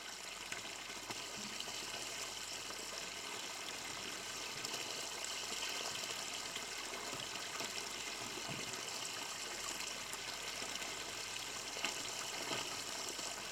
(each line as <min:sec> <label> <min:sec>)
0:00.0 the fountain 0:13.5